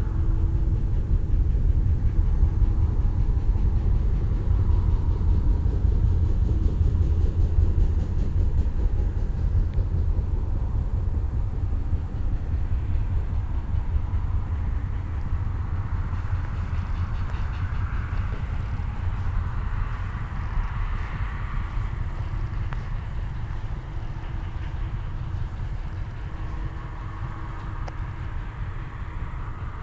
heavy duty train is passing nearby, behind an earth wall 0.0 - 29.8
walk on A4 motorway 0.0 - 29.8

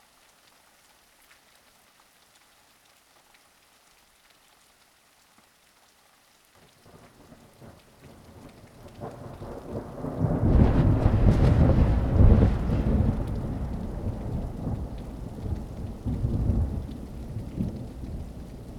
rain 0.0 - 18.7
wind 0.0 - 18.7
thunder 8.4 - 18.7

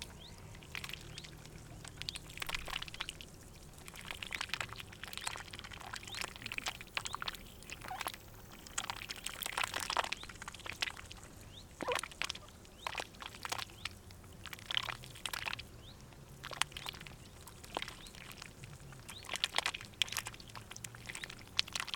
Ducks 3.9 - 11.0
Ducks 11.8 - 13.7

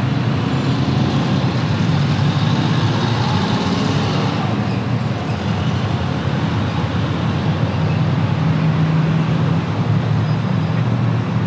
motorcycle 0.0 - 11.4
wind 0.0 - 11.4

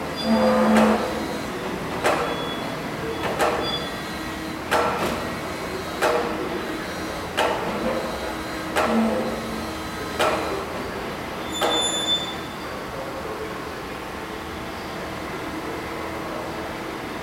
machines 0.0 - 17.2
workers 0.0 - 17.2

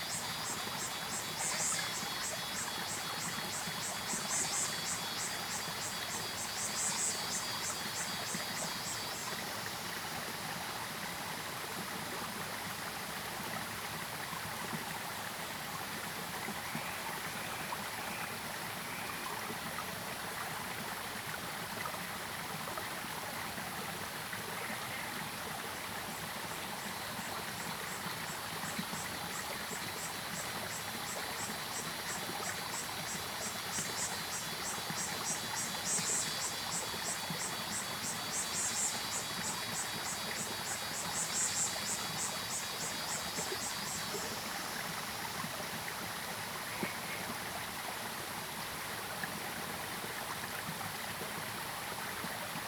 Frogs called 0.0 - 10.2
Cicadas called 0.0 - 10.4
Stream sound 0.0 - 52.6
Frogs called 16.2 - 19.6
Frogs called 26.0 - 47.8
Cicadas called 26.1 - 47.8

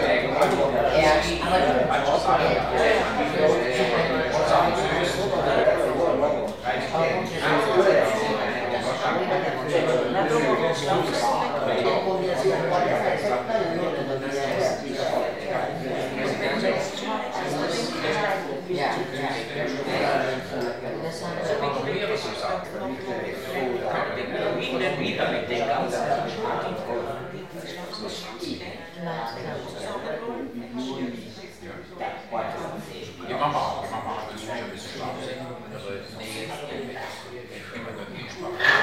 loud speeches 0.0 - 38.8

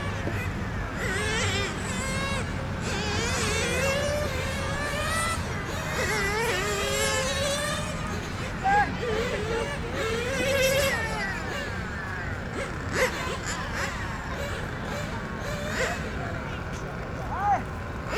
Remote control car 0.0 - 18.1

